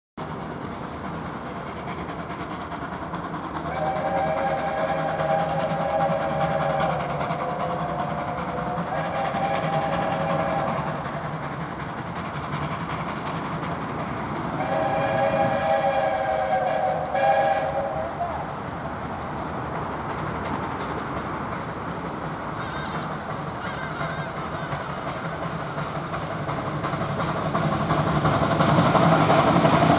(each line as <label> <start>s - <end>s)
Steamtrain rolling past 0.2s - 29.9s